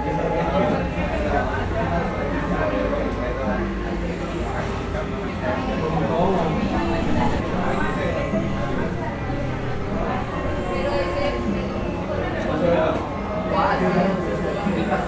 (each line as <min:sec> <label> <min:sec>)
0:00.0 teclado de computador 0:15.0
0:05.4 vehículos transitando 0:15.0
0:05.6 risas 0:15.0